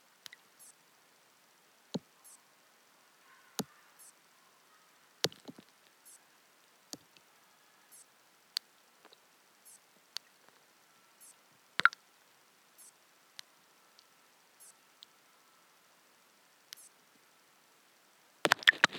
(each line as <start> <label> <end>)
11.8 water drops falling down into the pond 12.0